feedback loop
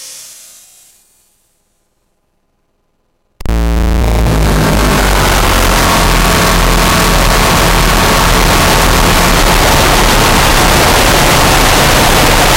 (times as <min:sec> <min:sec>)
0:03.4 0:12.5